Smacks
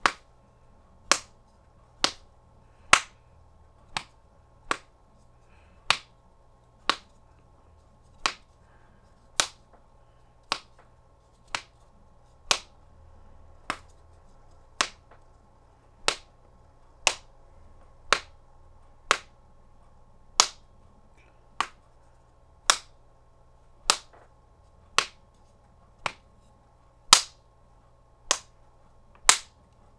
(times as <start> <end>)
10.5 10.9